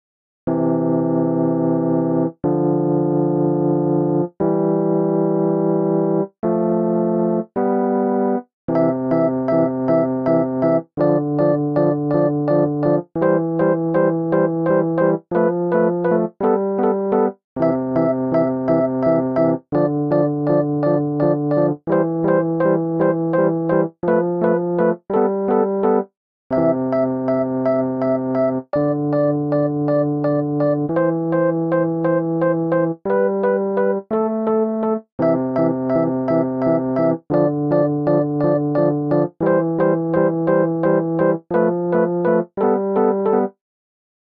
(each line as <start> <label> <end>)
0.6 Game Music 43.5